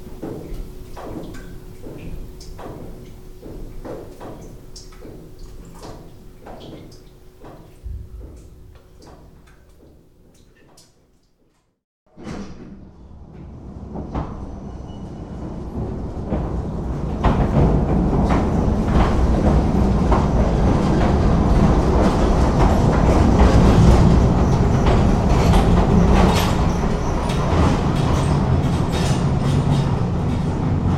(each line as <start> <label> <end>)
0.1 Water dripping within the tunnel 11.6
12.2 Narrow gauge railway cart inside the tunnel 30.9